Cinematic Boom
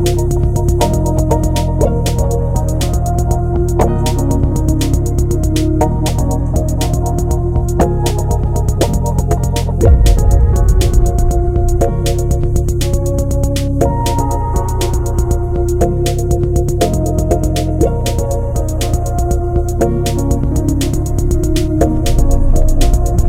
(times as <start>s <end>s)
9.8s 13.4s